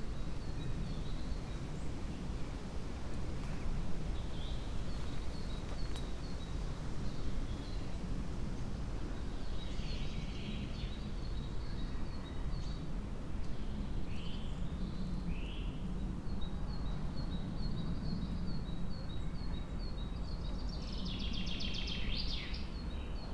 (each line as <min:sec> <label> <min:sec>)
0:00.0 winds 0:23.3